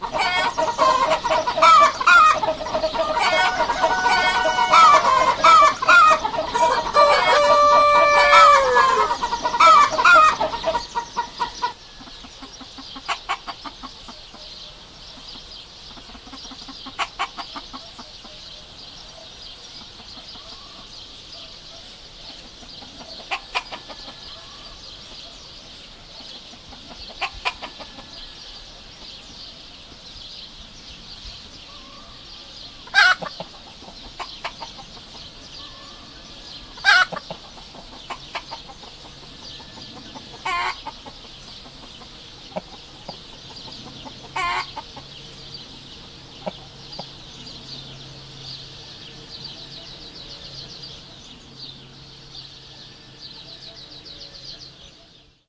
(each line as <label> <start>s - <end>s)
chickens 0.0s - 55.4s